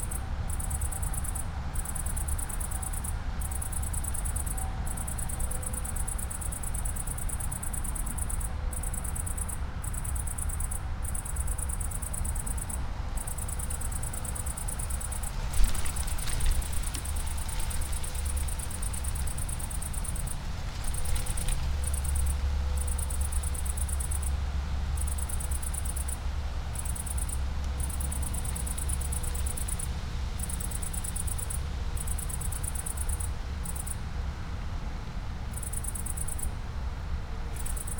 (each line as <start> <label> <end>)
0.0 cicada on acacia tree 37.9
15.0 dry poplar leaves and branches 22.6